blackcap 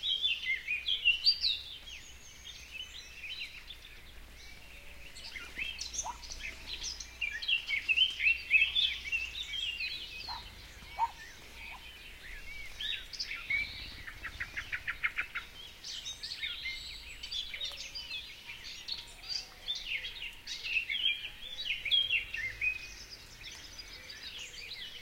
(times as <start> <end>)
0.0 18.0